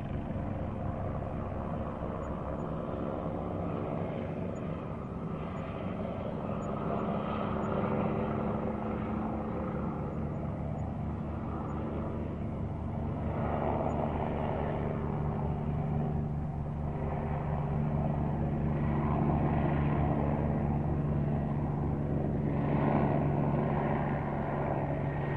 0.0s Police Helicopter 25.3s

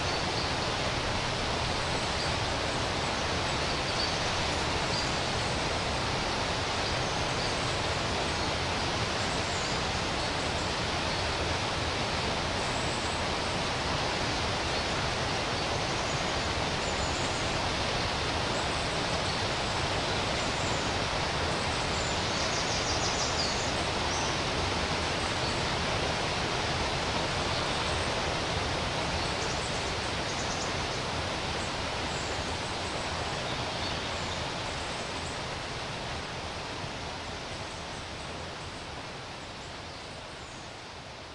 0.0s rapids 41.3s

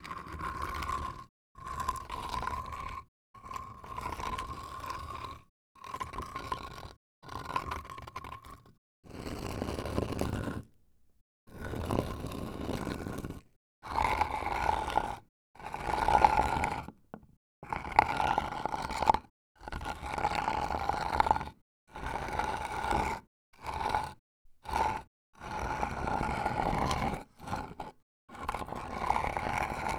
27.5s medium sized rock slinding on concrete 29.9s

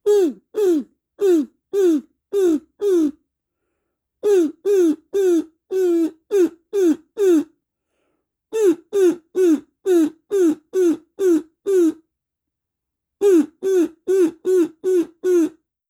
0.0s kazoo imitating a crow calling 3.2s
4.2s kazoo imitating a crow calling 7.5s
8.6s kazoo imitating a crow calling 12.0s
13.2s kazoo imitating a crow calling 15.6s

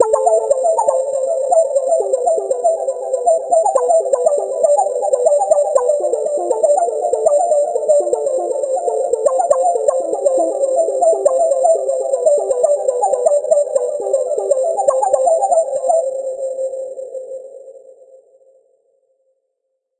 0.0s arpeggio 15.5s

